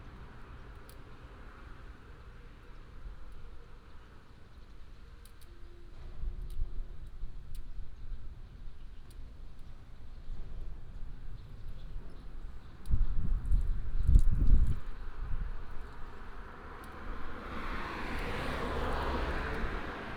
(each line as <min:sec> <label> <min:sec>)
0:10.9 Traffic sound 0:20.1